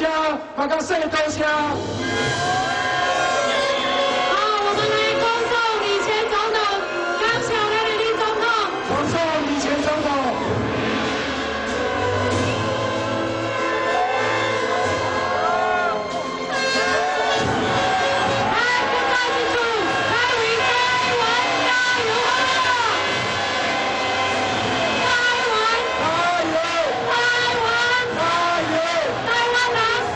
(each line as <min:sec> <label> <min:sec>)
0:00.0 speech 0:01.8
0:00.0 Protest 0:30.1